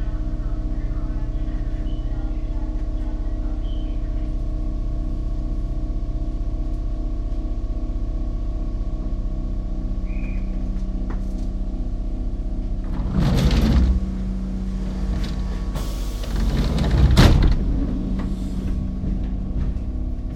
0.0s Train Waiting to leave 5.5s
12.2s Train Waiting to leave 20.3s

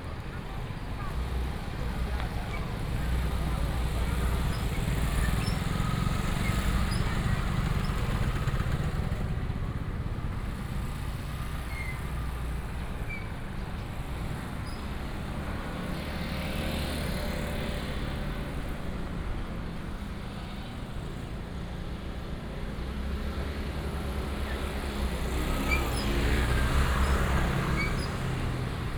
0.0s Traffic sound 28.9s
0.0s Walking in the traditional market 28.9s

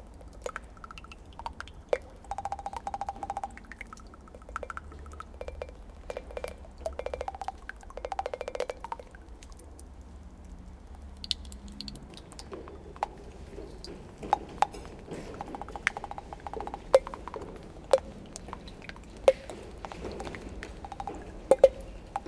0.0s rain is falling on a very old piece of dead cloth 22.2s

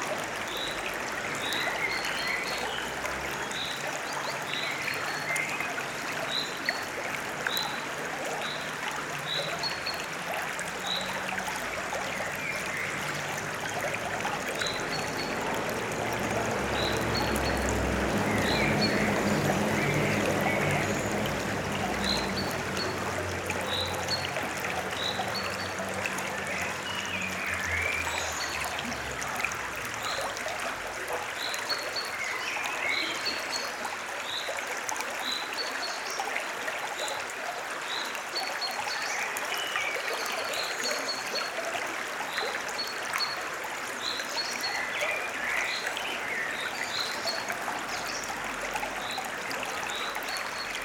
14.8s occasional vehicular traffic 28.0s

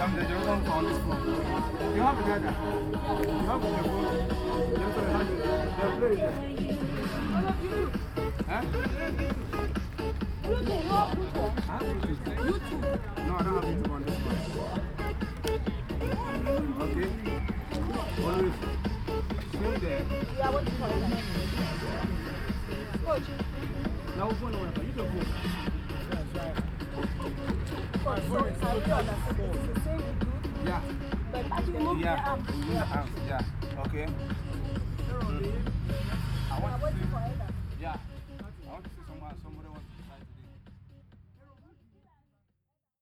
6.2s jumping on steps 24.1s

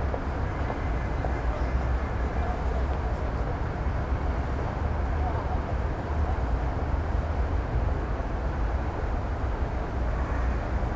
0.0s drone of the city 10.9s

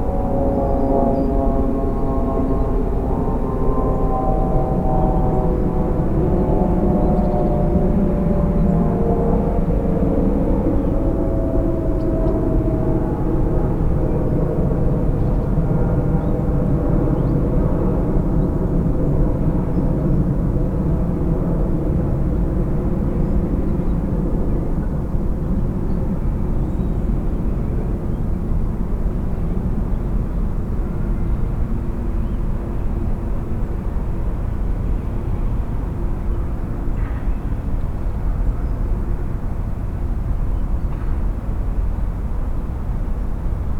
0.0s planes 43.7s

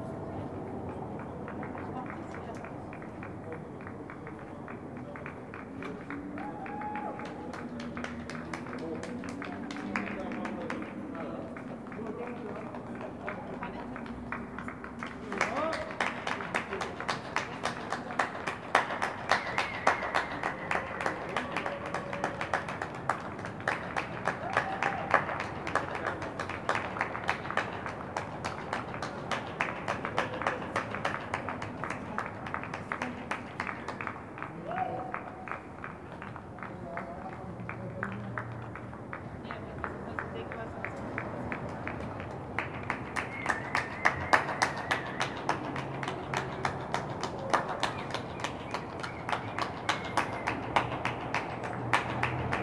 0.1s Public Clapping 52.6s

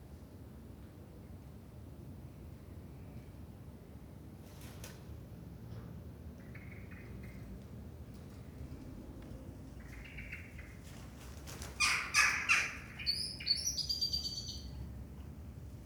9.8s blackbird 10.8s
11.6s magpies 14.7s
11.7s blackbird 14.8s
11.8s Crows 13.0s
11.8s starlings 14.7s

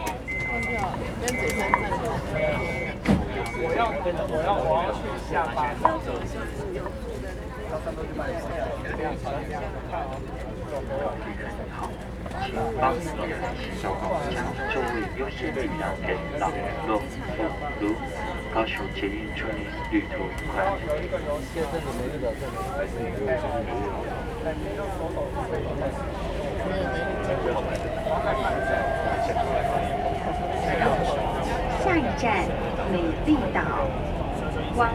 0.0s MRT 34.9s

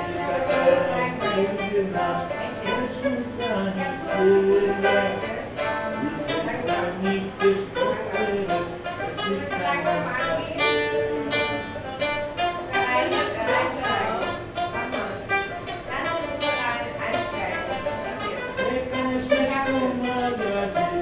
0.0s old man sings a rebetiko song 11.8s
0.0s ventilation of the smoking room 21.0s
18.1s old man sings a rebetiko song 21.0s

